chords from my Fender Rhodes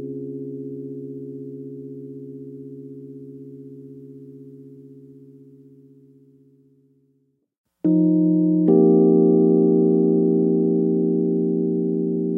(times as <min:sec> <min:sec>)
0:07.9 0:12.3